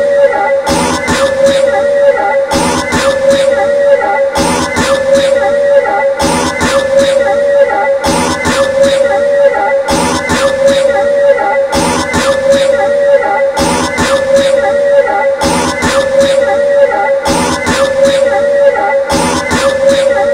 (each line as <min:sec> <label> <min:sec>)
0:00.0 my voice being effected/looped by the pedals 0:20.3
0:06.2 cough 0:07.4
0:08.0 cough 0:09.2
0:09.9 cough 0:11.0
0:11.8 cough 0:12.9
0:13.6 cough 0:14.7
0:19.1 cough 0:20.2